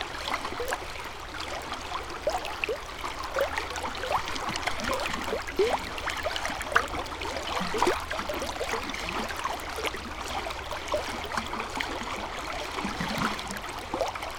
river 0.0 - 14.3

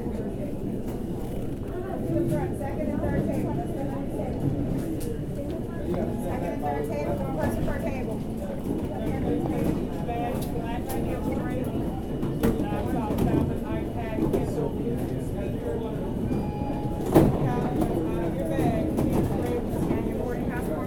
people waiting in line 0.0 - 20.8
sounds from the nearby checkpoint 8.6 - 20.8

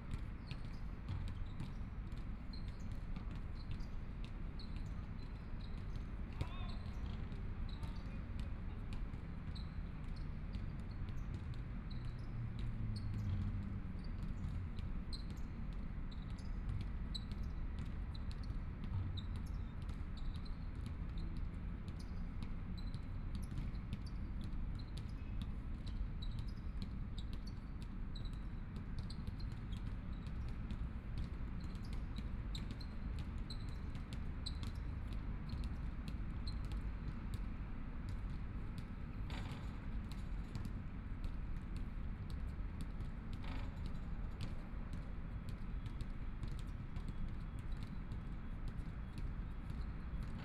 Playing basketball voice 0.1 - 13.6

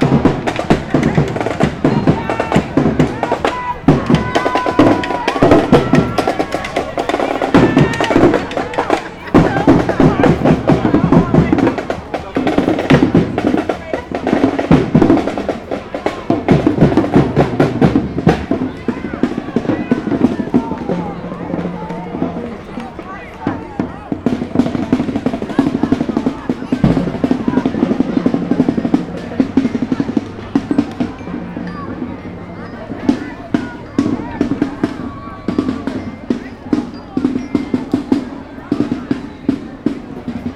drums 0.0 - 40.5

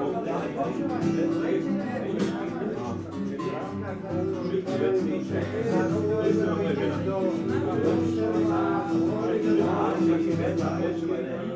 drinking and singing together 0.0 - 11.5

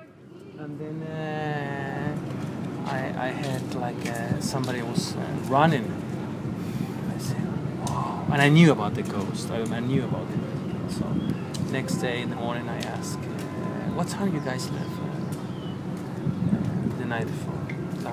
restaurant owner talking 0.6 - 2.2
restaurant owner talking 2.8 - 6.0
restaurant owner talking 7.1 - 15.3
restaurant owner talking 16.9 - 18.1

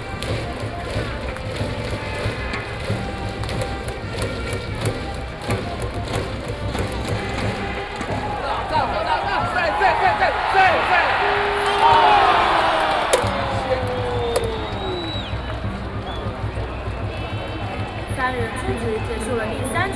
baseball game 0.0 - 19.9

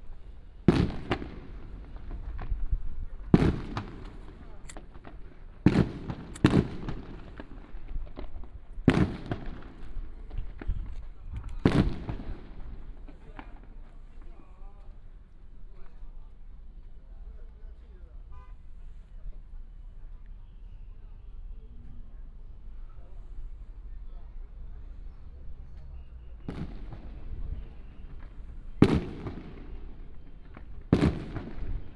fireworks 0.0 - 14.7
Firecrackers 0.0 - 16.2
Firecrackers 24.9 - 31.9
fireworks 26.0 - 31.9

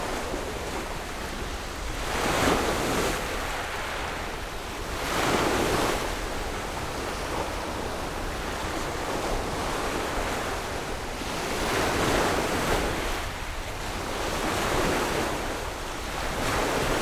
waves 0.0 - 17.0

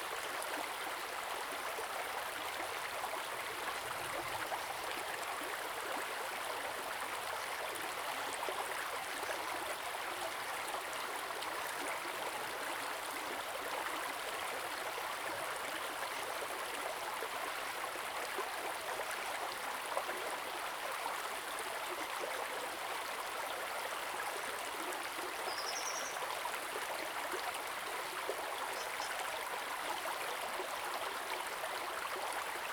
stream 0.0 - 32.7

